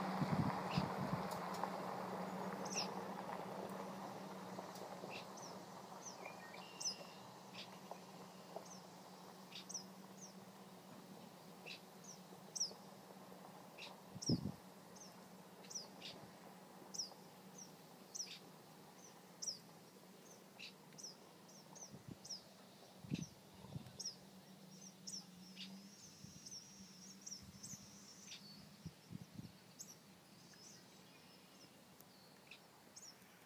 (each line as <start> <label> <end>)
0.0 CicadaBirdDay 33.4